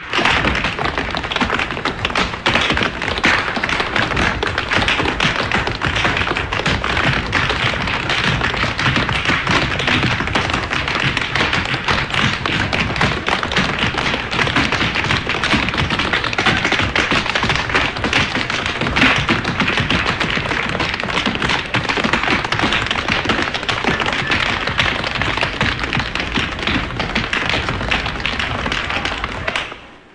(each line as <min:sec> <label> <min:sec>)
0:00.0 Many tap dancers dancing on a stage 0:30.1